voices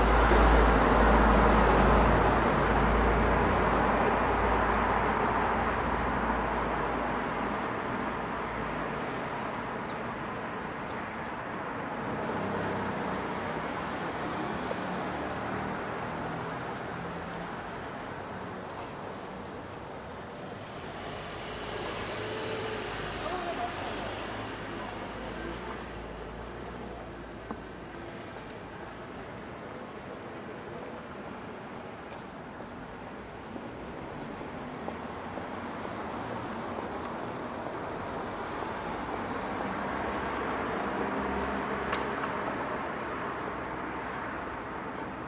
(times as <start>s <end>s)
21.6s 32.0s